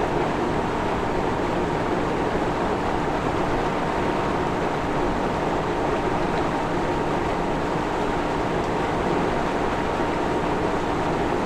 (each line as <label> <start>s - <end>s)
flowing water in canals, rivers 0.1s - 11.4s